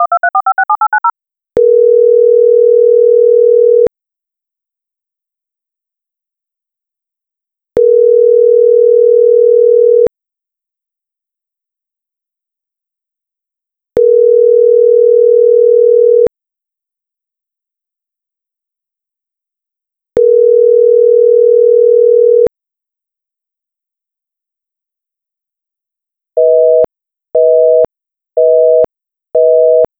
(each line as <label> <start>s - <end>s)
dtmf tones 0.0s - 1.1s
phone tone 0.0s - 3.9s
phone tone 7.8s - 10.1s
phone tone 14.0s - 16.3s
phone tone 20.2s - 22.5s
phone tone 26.4s - 29.9s